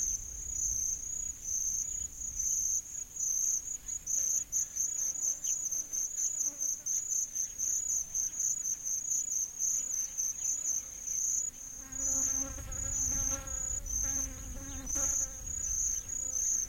insects 0.0 - 16.6
birds 12.2 - 16.6

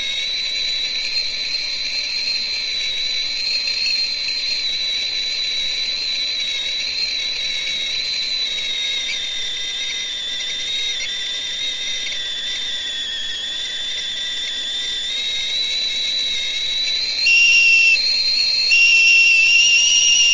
steam 0.0 - 20.3
whistle 0.0 - 20.3

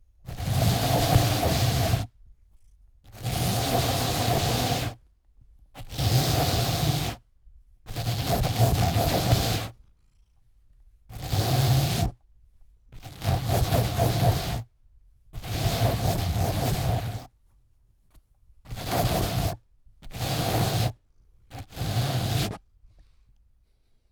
Cat brush brushing sofa 0.3 - 2.1
Cat brush brushing sofa 3.1 - 5.0
Cat brush brushing sofa 5.8 - 7.2
Cat brush brushing sofa 7.9 - 9.8
Cat brush brushing sofa 11.1 - 12.1
Cat brush brushing sofa 13.0 - 14.7
Cat brush brushing sofa 15.4 - 17.3
Cat brush brushing sofa 18.7 - 22.6

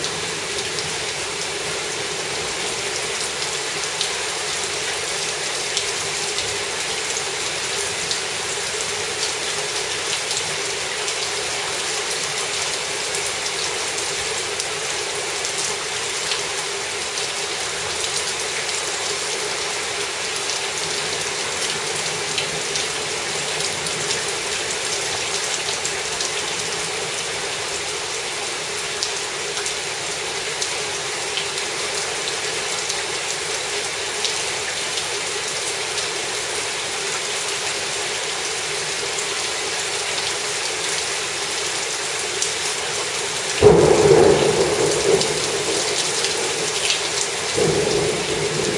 Heavy rain 0.0 - 48.7
occasional thunder 43.6 - 48.7

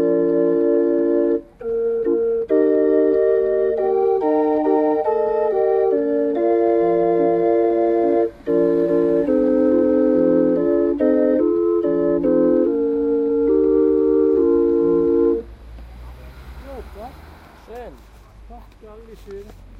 organ 0.0 - 15.5
ambient sound from the street 0.0 - 19.7

